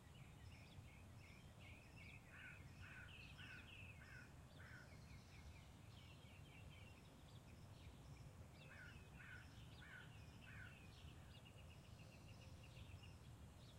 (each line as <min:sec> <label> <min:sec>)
0:02.3 distant crows 0:05.0
0:08.6 distant crows 0:10.8